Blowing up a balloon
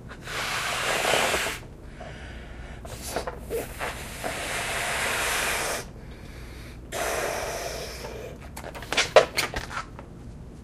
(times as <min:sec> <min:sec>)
0:00.0 0:01.7, 0:02.8 0:06.0, 0:06.9 0:08.5